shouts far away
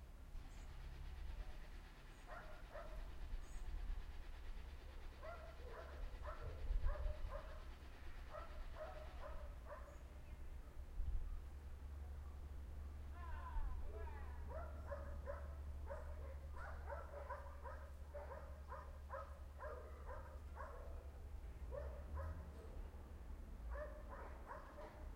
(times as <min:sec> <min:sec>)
0:13.1 0:14.4